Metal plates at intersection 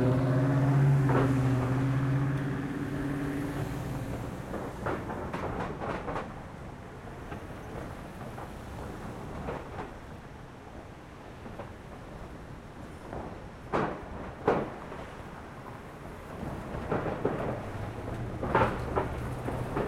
16.5s 19.8s

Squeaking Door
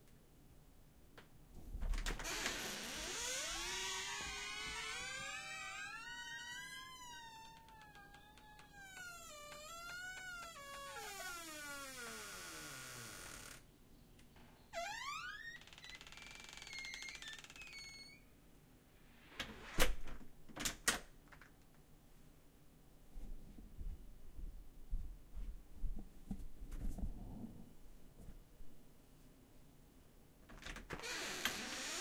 2.0s 13.6s, 14.5s 18.3s, 30.6s 32.0s

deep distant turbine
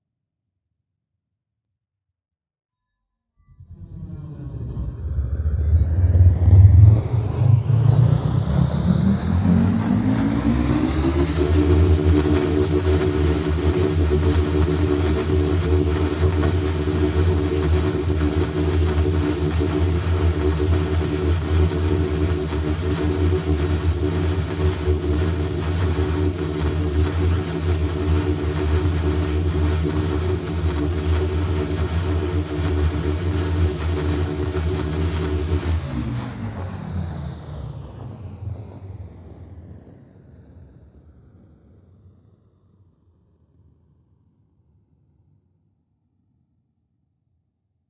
3.6s 38.3s

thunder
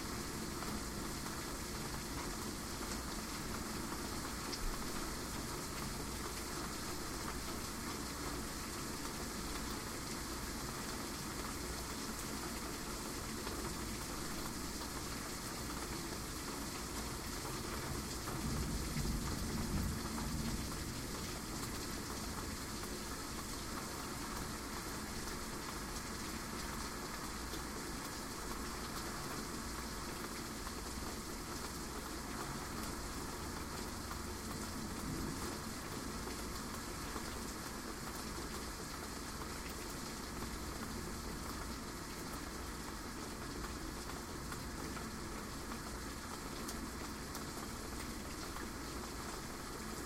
18.4s 20.9s

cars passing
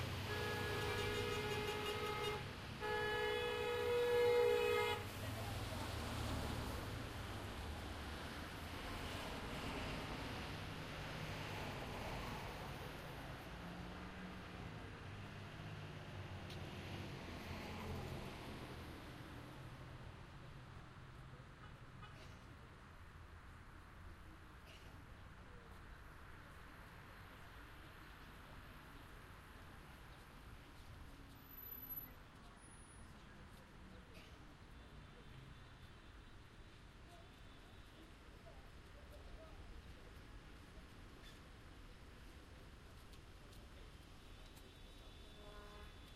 0.0s 20.8s

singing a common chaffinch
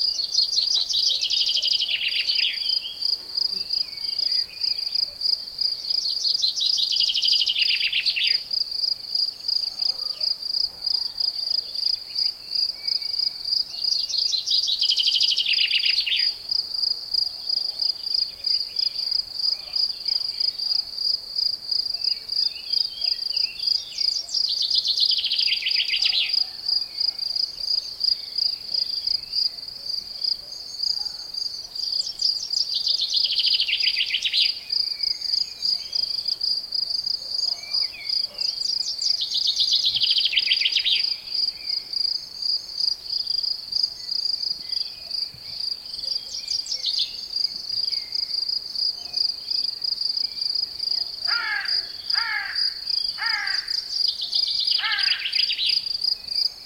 0.0s 5.0s, 5.8s 8.5s, 12.3s 16.4s, 22.5s 27.2s, 31.8s 36.2s, 37.4s 42.7s, 43.9s 48.3s

